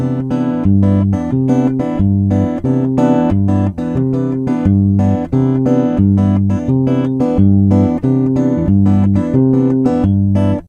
Bossa Nova Guitar 0:00.0 - 0:10.6

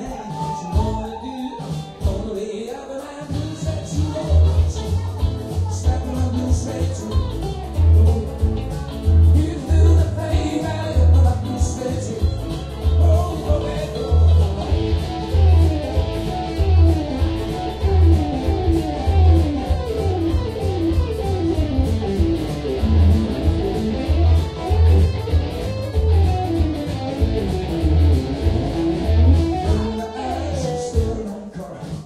People scream 0:00.0 - 0:02.0
song 0:00.0 - 0:32.0
People drink and chatting 0:00.0 - 0:32.0

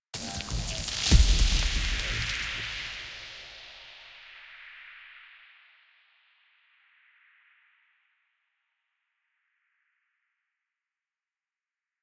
impact sound 0:00.2 - 0:04.0

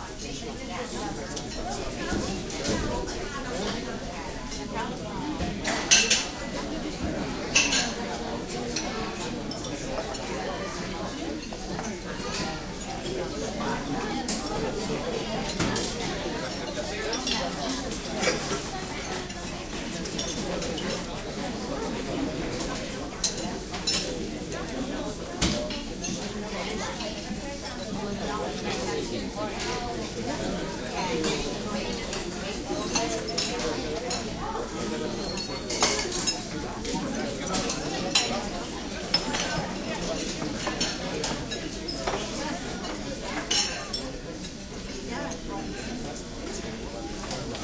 crowd int medium murmur 0:00.0 - 0:47.6
dishes cutlery tinkling 0:32.8 - 0:44.1

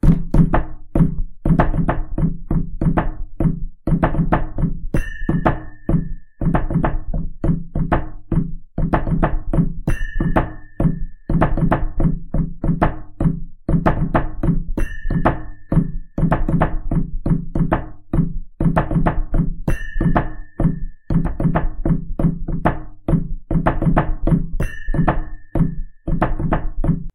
Ethnic hand drum loop 0:00.0 - 0:27.1

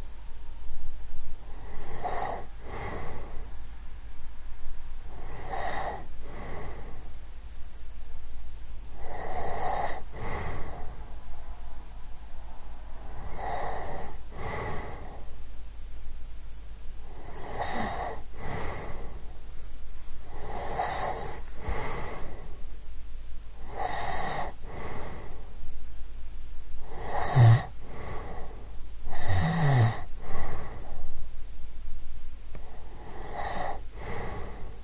snoring of a woman 0:01.5 - 0:03.4
snoring of a woman 0:05.1 - 0:07.0
snoring of a woman 0:09.0 - 0:10.9
snoring of a woman 0:13.2 - 0:15.3
snoring of a woman 0:17.0 - 0:19.2
snoring of a woman 0:20.3 - 0:22.5
snoring of a woman 0:23.6 - 0:25.4
snoring of a woman 0:26.8 - 0:28.5
snoring of a woman 0:29.1 - 0:31.0
snoring of a woman 0:32.6 - 0:34.8

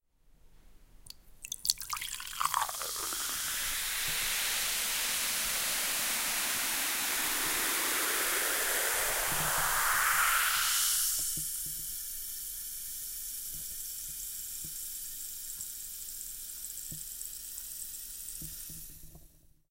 Breton cider 0:01.1 - 0:06.6

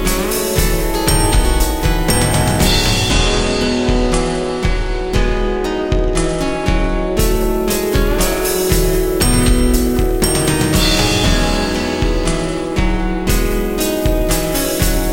Bass 0:00.0 - 0:15.1
Drums 0:00.0 - 0:15.1
Synth 0:00.6 - 0:04.5
Synth 0:09.1 - 0:13.2

